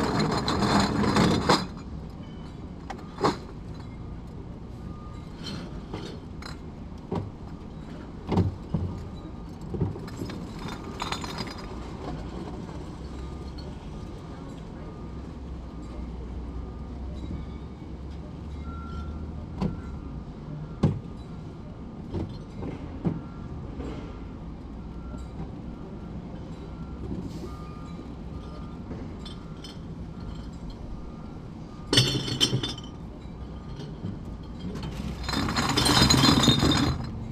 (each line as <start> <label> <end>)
31.8 bottles return 33.0
33.7 bottles return 37.2